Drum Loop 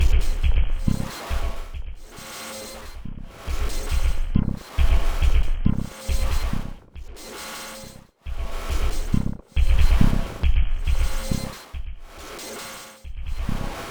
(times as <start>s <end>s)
0.0s 2.1s, 2.9s 7.2s, 8.3s 12.3s